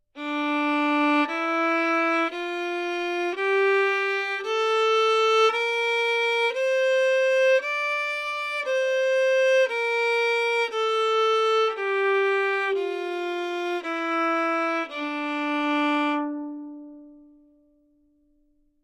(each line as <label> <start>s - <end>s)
Violin 0.2s - 17.4s